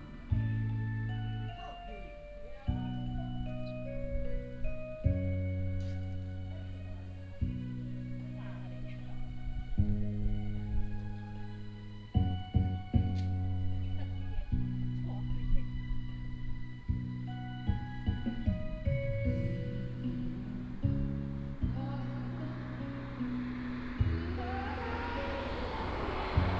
Karaoke 0:00.0 - 0:26.5
Traffic sound 0:00.0 - 0:26.5

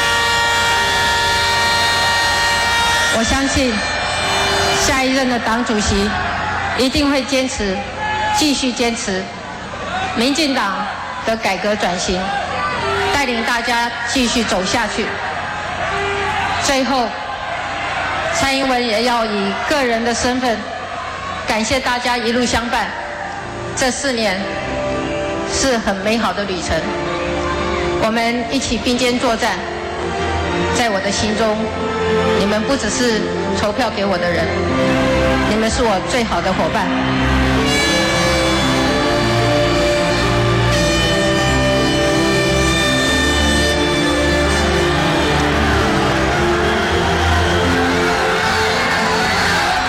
Concession speech 0:03.1 - 0:04.0
Concession speech 0:30.6 - 0:37.1

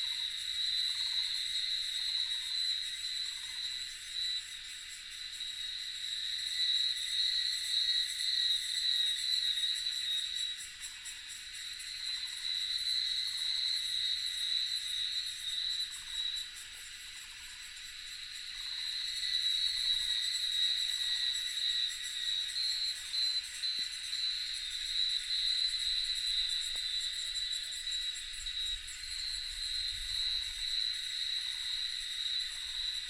Cicadas cry 0:00.0 - 0:33.0

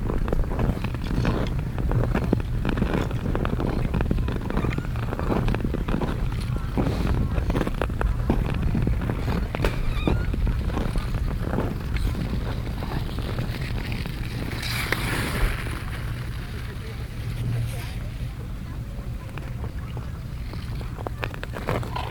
iceskate 0:00.2 - 0:17.8

